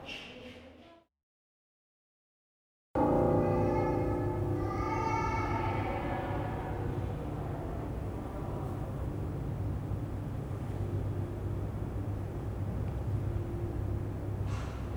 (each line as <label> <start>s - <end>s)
piano 3.0s - 14.9s
children facepainting 3.0s - 8.9s